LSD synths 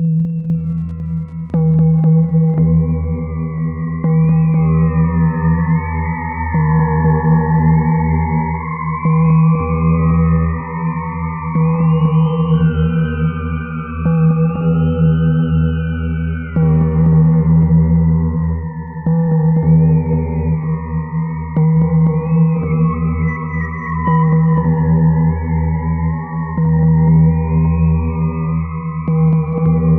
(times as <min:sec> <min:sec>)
0:00.0 0:02.6